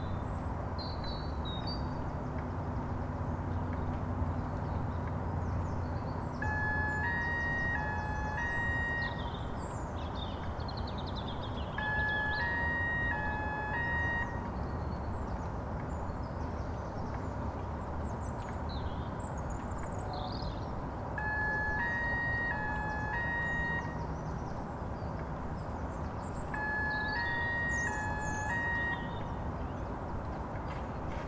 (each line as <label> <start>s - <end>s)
Alarm Still Bleeping 6.4s - 9.4s
Alarm Still Bleeping 11.8s - 14.6s
Alarm Still Bleeping 21.2s - 24.0s
Alarm Still Bleeping 26.5s - 29.4s